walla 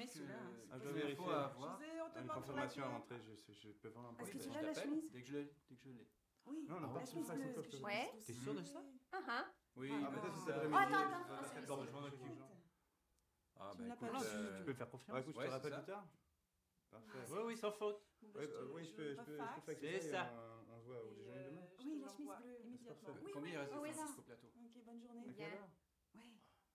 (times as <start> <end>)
6.8 12.5